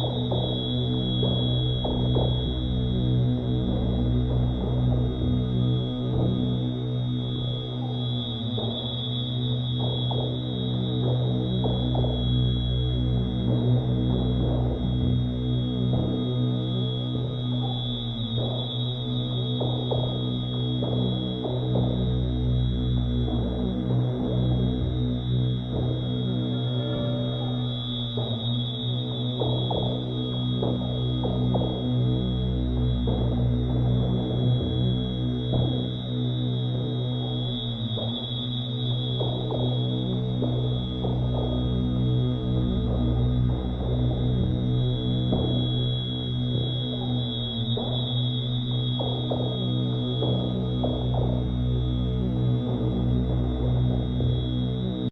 synth drone 0:00.0 - 0:55.1

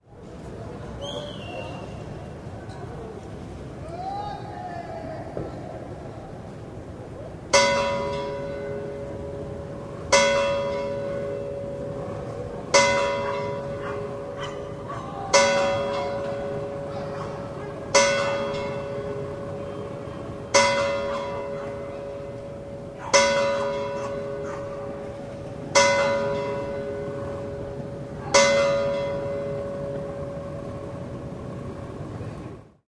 Bells of the small church 0:07.5 - 0:32.0

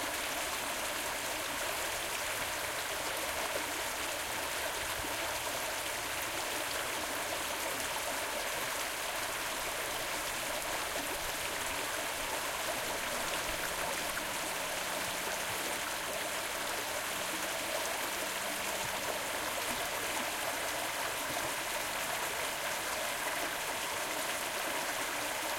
small stream running 0:00.0 - 0:25.5

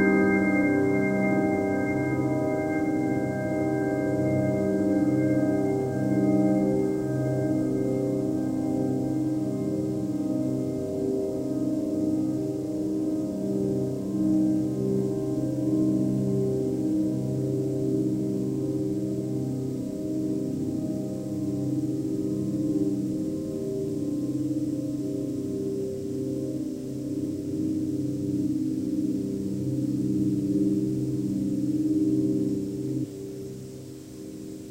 sustained piano 0:00.0 - 0:34.7

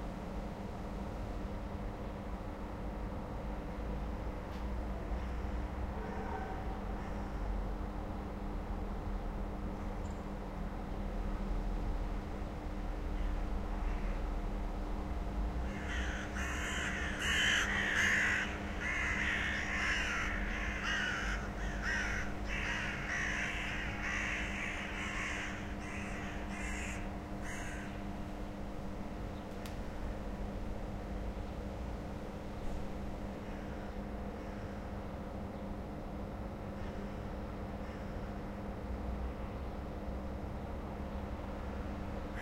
Flock of crows fly & croak around a house 0:13.2 - 0:14.2
Flock of crows fly & croak around a house 0:15.6 - 0:28.1
Flock of crows fly & croak around a house 0:37.8 - 0:38.4

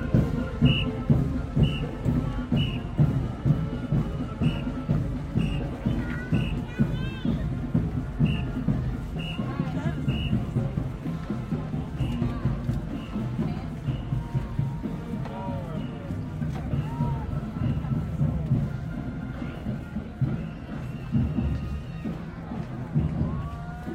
cheerleaders pass 0:00.0 - 0:23.9
marching band playing 0:00.0 - 0:23.9

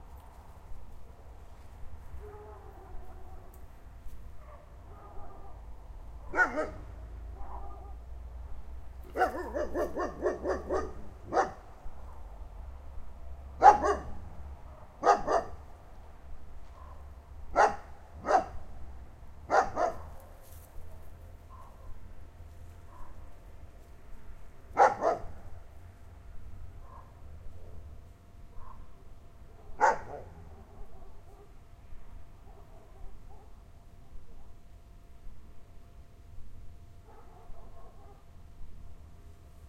distant dogs 0:02.1 - 0:12.5
dog nearby barks 0:04.3 - 0:05.6
dog nearby barks 0:06.2 - 0:08.0
dog nearby barks 0:09.0 - 0:12.3
distant dogs 0:13.4 - 0:15.7
dog nearby barks 0:13.6 - 0:15.6
distant dogs 0:16.6 - 0:18.7
dog nearby barks 0:16.6 - 0:18.6
distant dogs 0:19.4 - 0:22.1
dog nearby barks 0:19.5 - 0:22.0
distant dogs 0:22.7 - 0:23.5
dog nearby barks 0:22.8 - 0:23.4
distant dogs 0:24.7 - 0:25.6
dog nearby barks 0:24.8 - 0:25.4
distant dogs 0:26.7 - 0:34.8
dog nearby barks 0:26.8 - 0:27.2
dog nearby barks 0:28.5 - 0:31.6
dog nearby barks 0:32.4 - 0:33.6
distant dogs 0:37.0 - 0:38.4
dog nearby barks 0:37.0 - 0:38.3

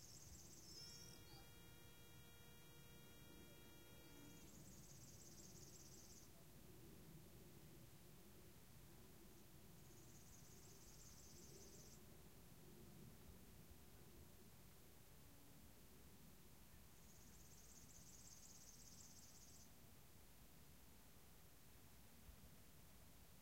swifts are flying nearby 0:00.1 - 0:06.3

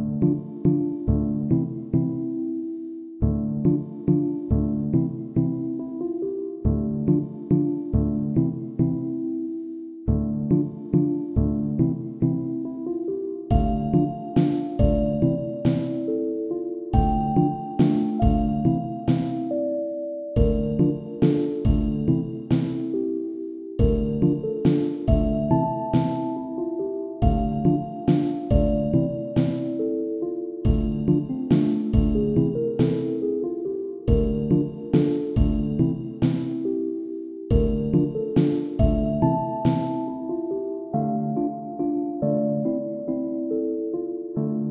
simple slow melody 0:00.0 - 0:44.7

